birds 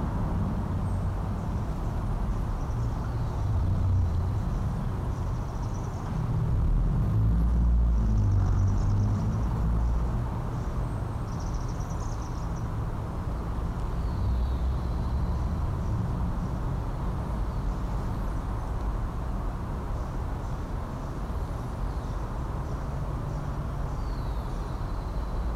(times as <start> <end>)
7.8 16.6, 19.8 25.5